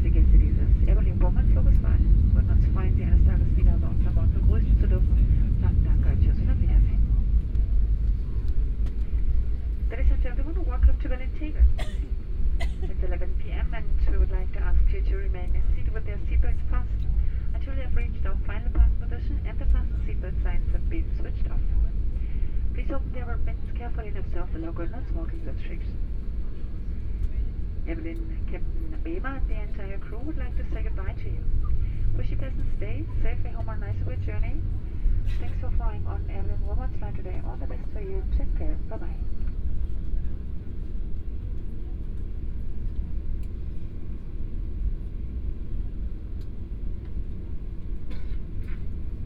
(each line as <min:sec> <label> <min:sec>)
0:00.0 Crew welcoming the passengers 0:39.4
0:00.0 Plane circling on the runway 0:49.2
0:00.0 hum of the engines 0:49.2